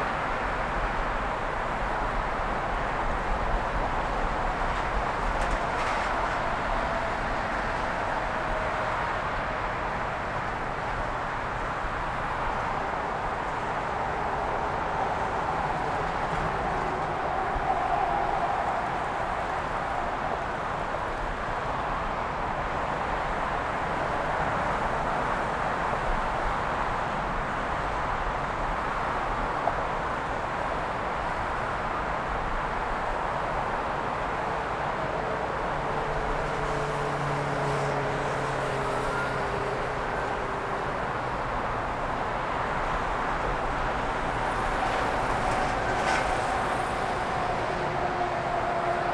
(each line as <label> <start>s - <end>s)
oceanic roar of the late Friday afternoon traffic 0.0s - 49.1s